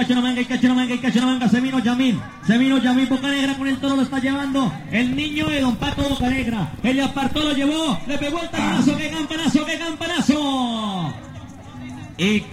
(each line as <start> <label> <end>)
3.1 riding a horse after cow 10.3